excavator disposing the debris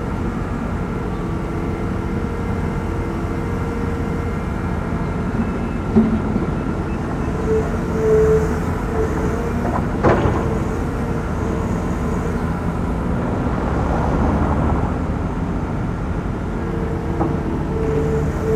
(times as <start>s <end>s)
0.0s 12.6s